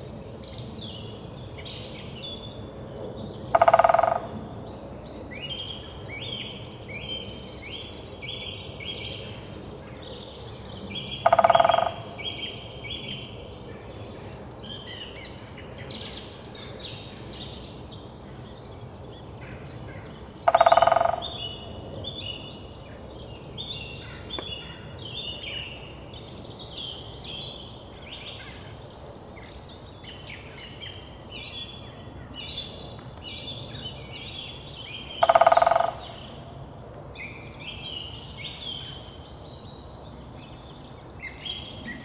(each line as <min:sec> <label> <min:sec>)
0:03.4 Greater Spotted Woodpecker drumming 0:04.5
0:11.0 Greater Spotted Woodpecker drumming 0:12.7
0:20.1 Greater Spotted Woodpecker drumming 0:21.7
0:32.9 Greater Spotted Woodpecker drumming 0:36.6